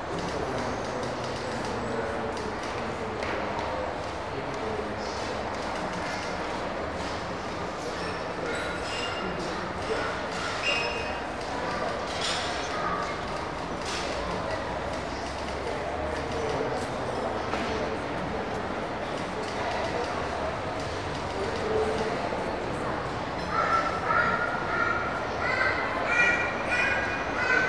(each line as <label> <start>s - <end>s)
child 23.4s - 27.6s